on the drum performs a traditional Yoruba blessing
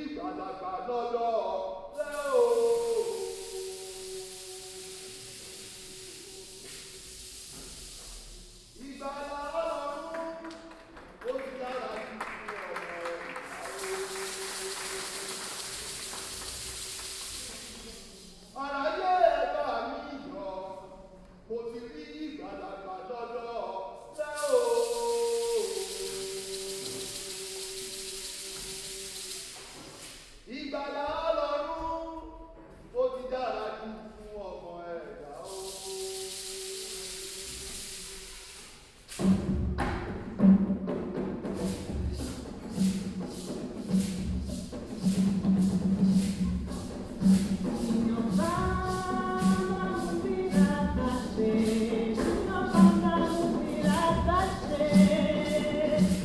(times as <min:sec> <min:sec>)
0:02.0 0:20.0, 0:24.0 0:30.1, 0:35.4 0:56.2